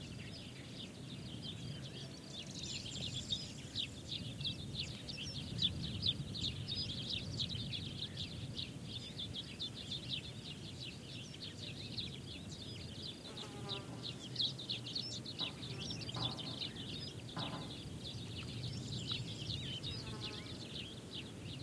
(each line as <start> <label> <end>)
0.0 Common Sparrow callings 21.6
0.0 Fan Tailed Warbler can also be heard singing 21.6
0.0 smooth wind on vegetation 21.6
11.7 Crested Larks 21.6
15.3 distant sheep bells 17.9
15.4 soft bangs of a loose traffic sign 18.4